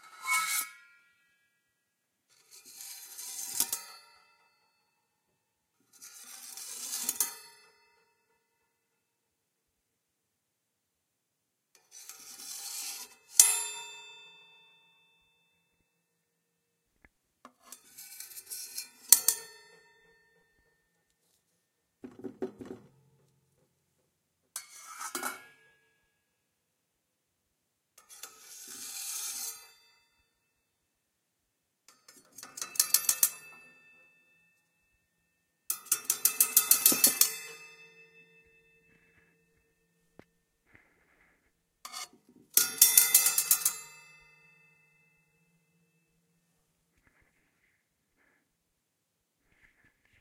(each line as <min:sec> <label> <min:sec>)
0:02.4 knife-scrapes 0:04.0
0:17.6 knife-scrapes 0:19.6
0:28.1 knife-scrapes 0:29.8
0:35.8 knife-scrapes 0:38.3
0:40.7 knife-scrapes 0:44.2